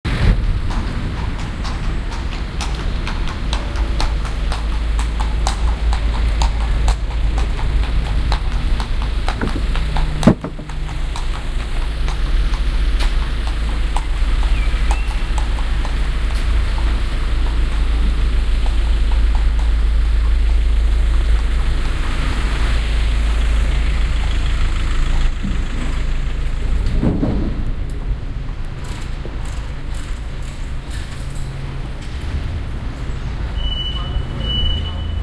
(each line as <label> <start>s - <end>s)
train 0.1s - 35.2s
Girl riding a horse 0.5s - 23.2s
Girl riding a horse 28.8s - 31.4s